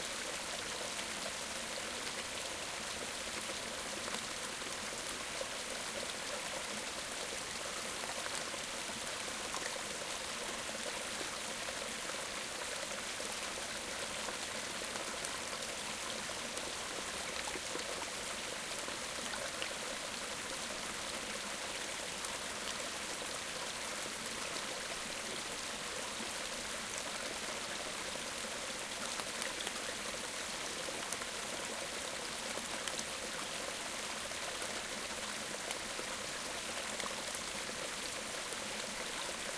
0.0s medium stream 39.5s

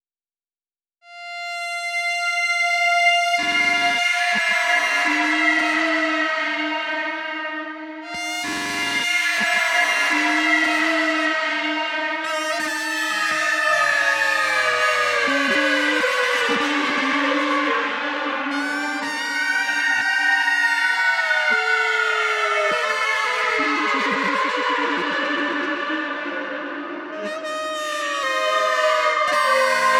1.1s Screeching Saxophone 29.9s

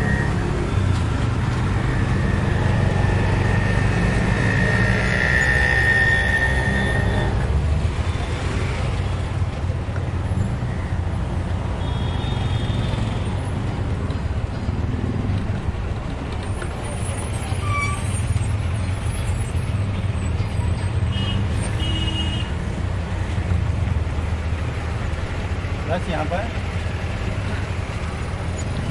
0.0s rickshaw ride fast speed smooth 9.6s
0.0s traffic pass by 28.9s

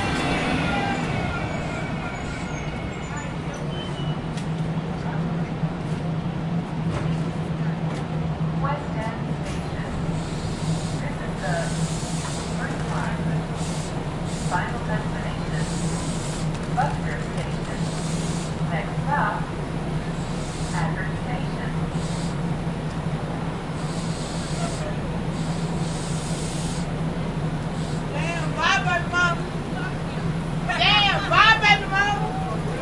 0.0s departure 6.8s
0.0s People board the train 32.8s
0.0s train arrives 32.8s
30.7s people are heard shouting 32.8s

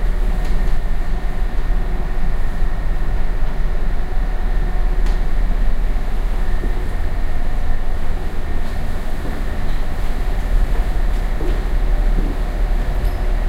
0.0s train 13.4s

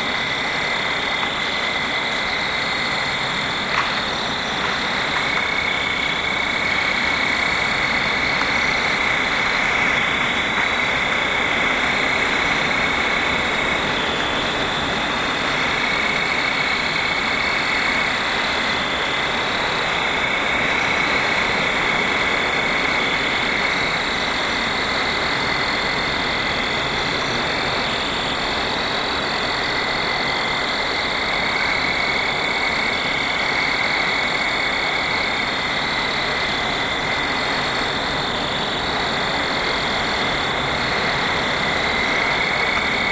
0.0s fall field crickets 43.1s
0.0s wind 43.1s

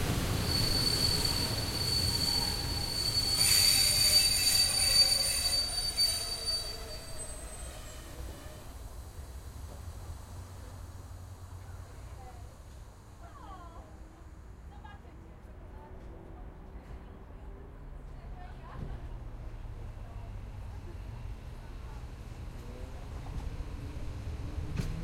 0.0s train running, slowing down 15.4s
0.5s specific metalic sqeaky sound 8.7s
18.0s train running, slowing down 25.0s

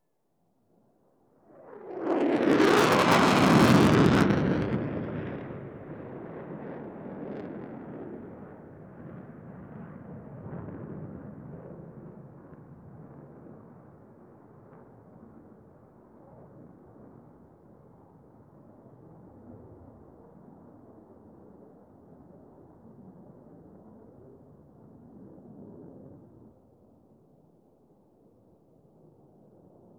1.4s F22 Fighter Jet Flyover 13.7s

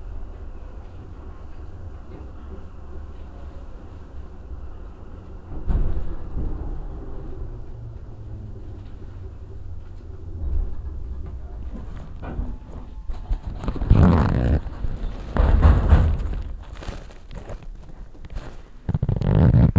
0.0s another train which is going fastly on the backward railway 13.4s
0.0s train was slowing down 17.6s
0.0s going onto the rail-crossings 19.7s

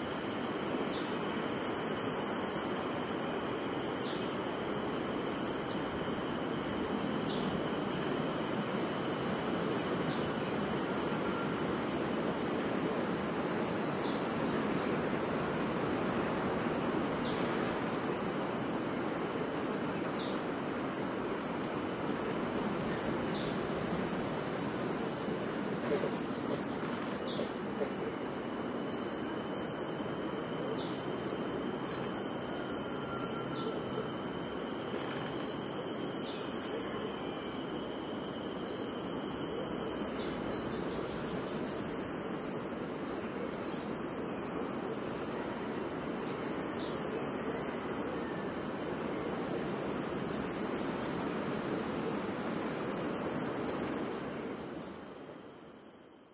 0.0s wind 56.3s
25.5s birdsong 51.3s

